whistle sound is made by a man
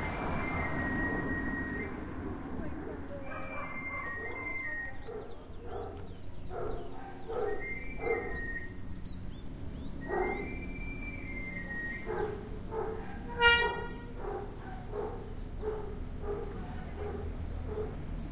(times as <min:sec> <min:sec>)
0:00.1 0:02.0, 0:10.2 0:12.1